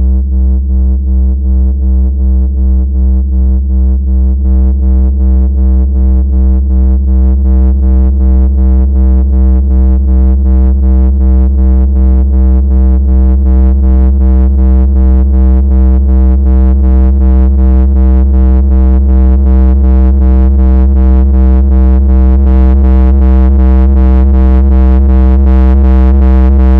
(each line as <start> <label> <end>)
26.1 basspulse rising and getting louder and heavier 26.7